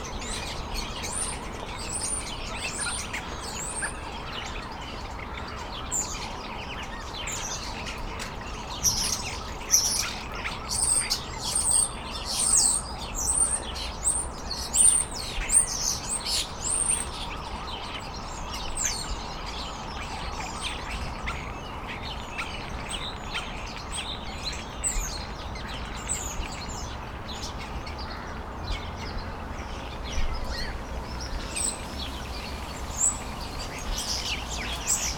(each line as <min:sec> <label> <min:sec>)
0:28.6 cars 0:35.1
0:30.1 bird chirps 0:35.1